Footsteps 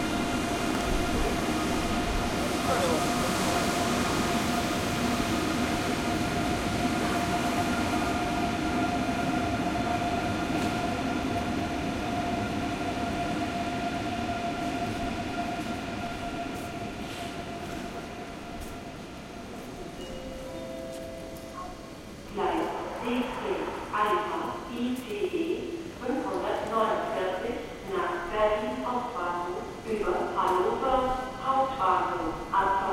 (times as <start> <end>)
20.8 21.6